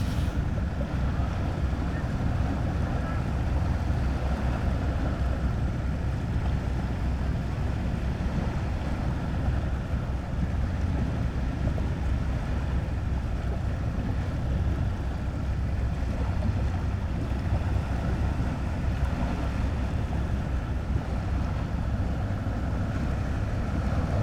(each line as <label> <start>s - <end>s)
sea 0.0s - 24.2s